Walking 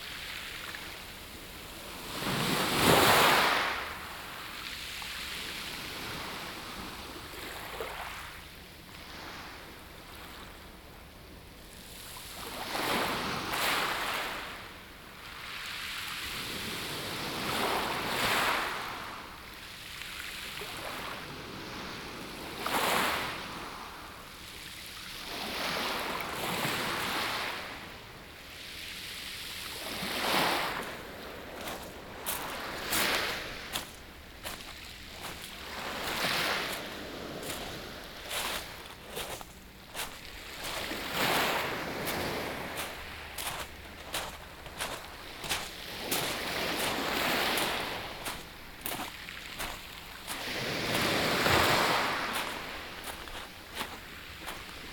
31.5s 54.9s

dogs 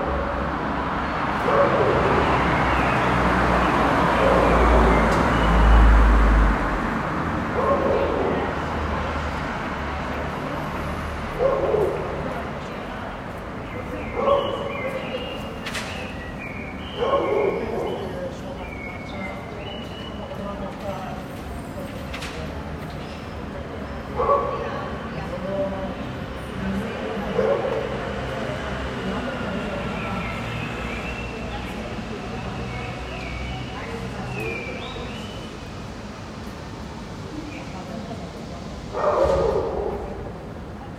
7.5s 8.5s, 11.3s 12.3s, 14.1s 15.2s, 17.0s 18.1s, 24.1s 25.0s, 27.3s 28.2s, 38.9s 40.5s

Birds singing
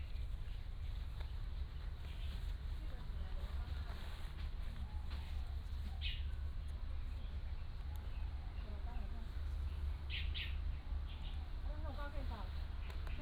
6.0s 11.7s

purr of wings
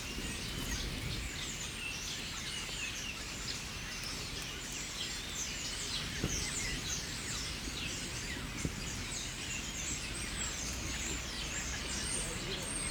0.0s 1.6s

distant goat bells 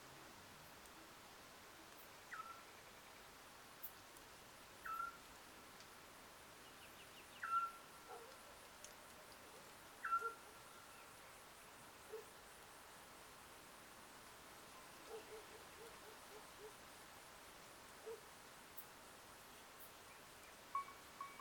20.8s 21.4s

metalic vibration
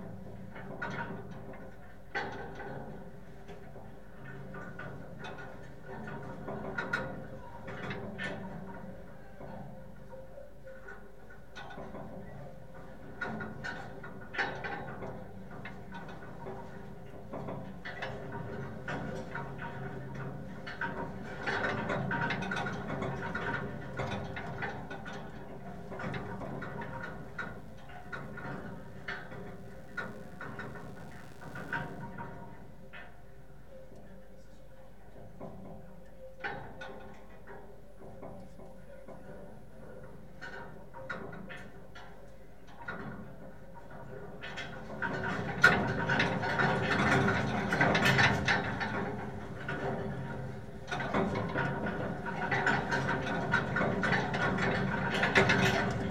25.7s 32.1s

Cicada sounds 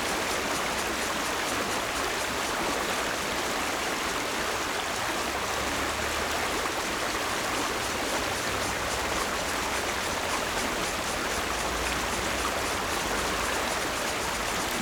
6.8s 14.8s

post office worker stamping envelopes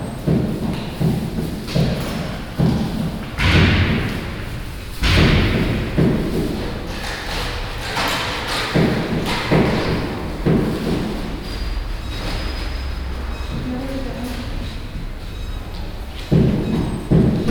0.0s 11.6s, 16.2s 17.5s

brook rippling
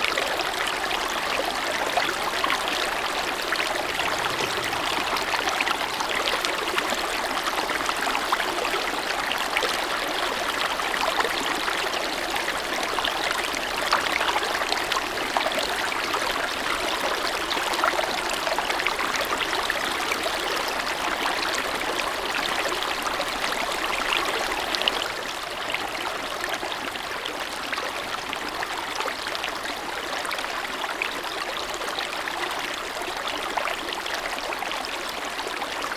0.0s 27.9s

